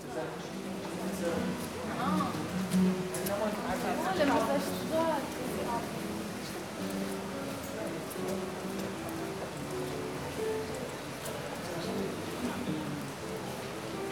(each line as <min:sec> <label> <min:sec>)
0:00.6 practicing guitar tunes 0:14.1